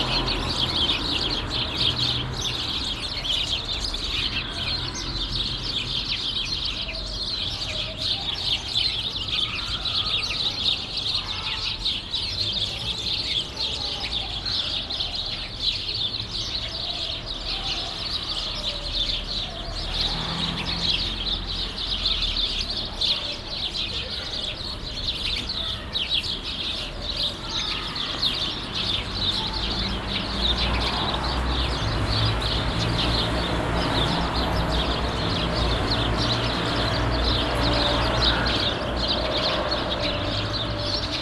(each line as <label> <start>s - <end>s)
birds that are nested at the green fassade 0.0s - 41.2s
street traffic noise 0.0s - 41.2s